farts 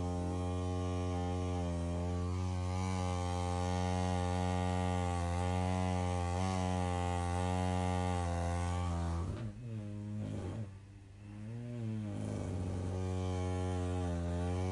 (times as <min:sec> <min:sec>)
0:08.7 0:14.7